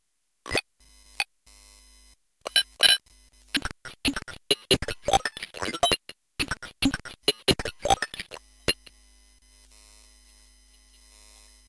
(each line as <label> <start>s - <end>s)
Circuit bent (dyslexic friendly) speak and spell toy 3.6s - 8.9s